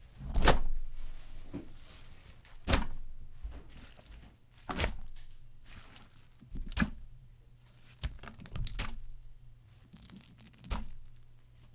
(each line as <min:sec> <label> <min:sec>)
0:01.5 soaked rag drop onto several sponges full of water 0:09.2